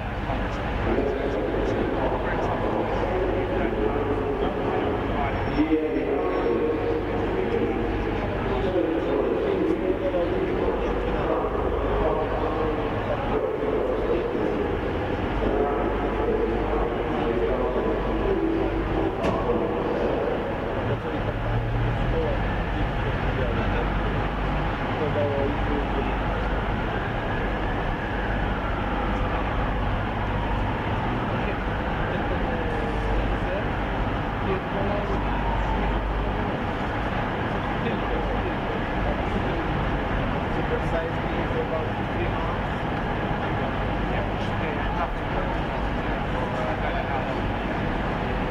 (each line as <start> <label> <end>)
0.0 station announcement 48.5
0.0 train 48.5
0.0 voices 48.5
9.0 siren 21.2
25.6 siren 34.1
35.0 siren 38.4